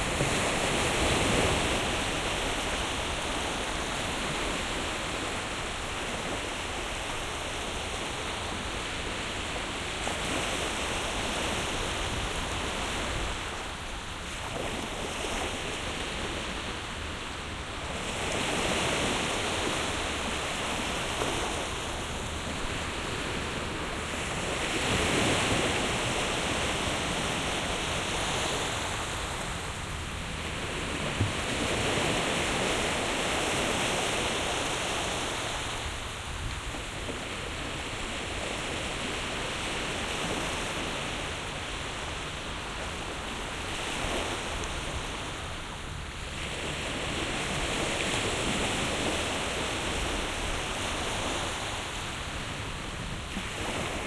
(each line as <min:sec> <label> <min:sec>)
0:00.0 Waves 0:54.0